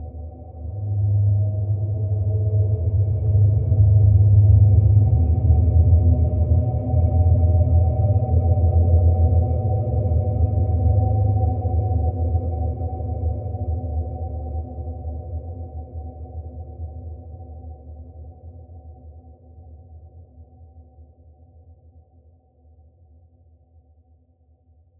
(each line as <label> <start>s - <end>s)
deep space drone 0.0s - 18.3s